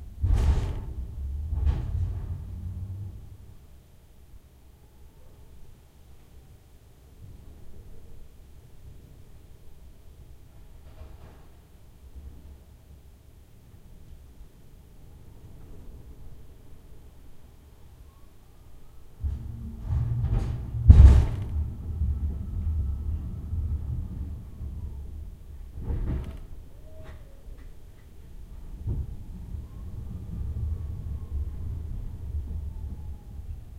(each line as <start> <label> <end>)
0.0 forklift (rumbling, creaking) 3.7
19.2 forklift (rumbling, creaking) 27.2
28.0 forklift (rumbling, creaking) 33.7